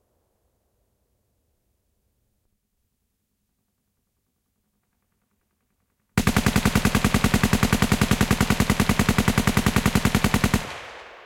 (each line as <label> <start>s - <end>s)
A machine gun 6.2s - 11.2s